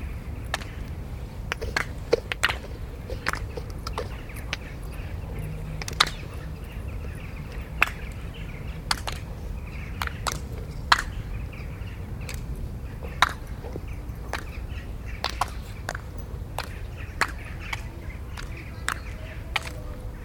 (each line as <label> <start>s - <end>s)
clapping action 0.4s - 5.1s
clapping action 5.7s - 6.7s
clapping action 7.4s - 11.4s
clapping action 12.2s - 20.0s